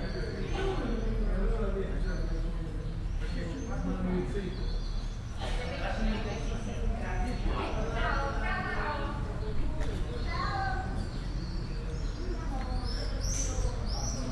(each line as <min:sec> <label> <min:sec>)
0:00.0 birds 0:14.3
0:00.0 people chatting 0:14.3